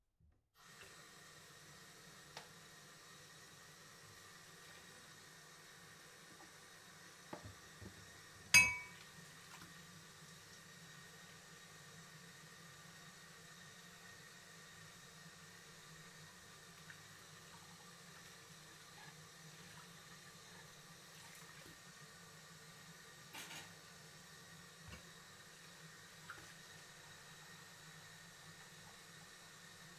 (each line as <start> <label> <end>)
0.6 water 29.9
4.1 man washing dishes 10.6
8.6 faucet 9.0
16.3 man washing dishes 22.0